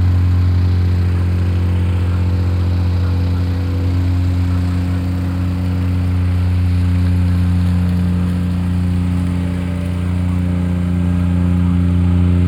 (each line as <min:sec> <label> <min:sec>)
0:00.0 plate compactor 0:12.4